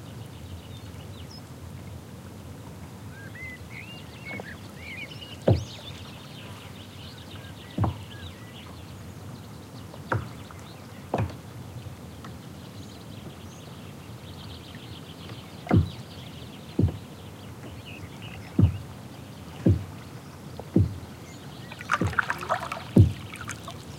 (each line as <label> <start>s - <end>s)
water moved by paddles 14.6s - 23.9s
Hoopoe 21.7s - 23.9s
bangs from oars that strike the boat 21.7s - 23.9s